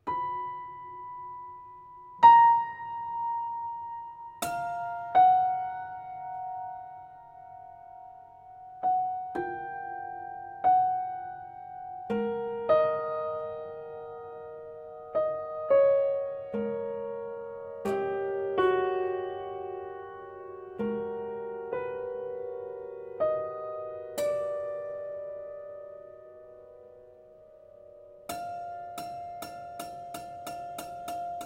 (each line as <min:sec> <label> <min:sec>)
0:00.0 prepared piano 0:31.4